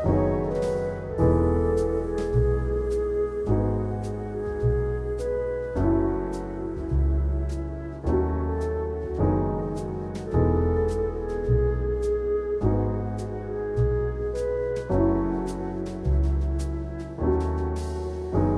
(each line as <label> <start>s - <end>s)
electric piano 0.0s - 18.5s
upright bass 0.0s - 18.5s